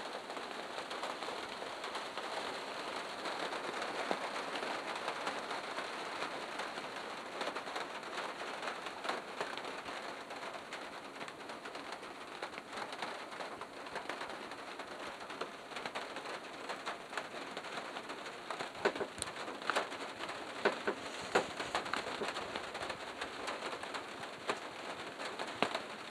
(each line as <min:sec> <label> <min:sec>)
0:00.0 rain 0:26.1